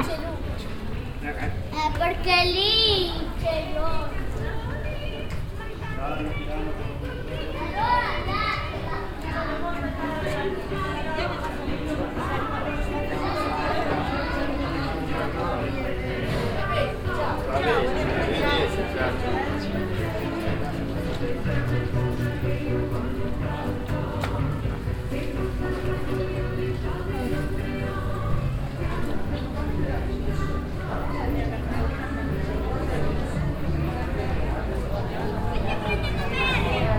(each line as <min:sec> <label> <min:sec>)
0:00.0 people 0:36.9